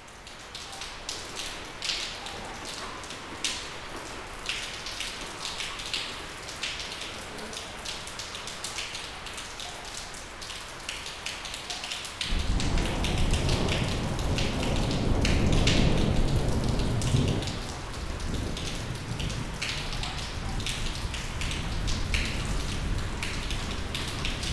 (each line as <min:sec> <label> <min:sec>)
0:00.0 rain 0:24.5
0:12.3 thunder 0:24.5